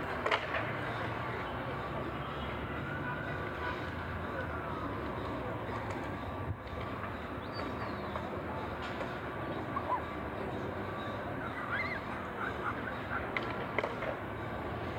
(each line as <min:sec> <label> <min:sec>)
0:00.0 nearby transit 0:14.9
0:00.0 people taking their dogs 0:14.9
0:00.0 young people riding their skateboards on the track 0:14.9
0:00.8 children out for a walk playing 0:13.5
0:01.7 siren of an ambulance 0:06.5
0:04.8 birds singing 0:13.4